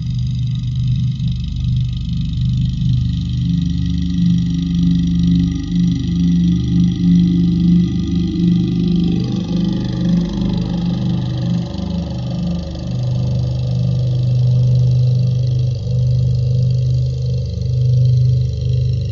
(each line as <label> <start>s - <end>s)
Tibetan chant played at half speed 4.1s - 19.0s